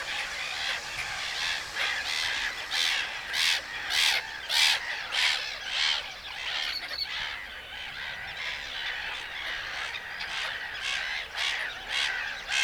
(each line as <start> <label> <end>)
0.0 man working his grinder 5.0
0.0 car leaving 5.2
0.0 shouting birds 5.2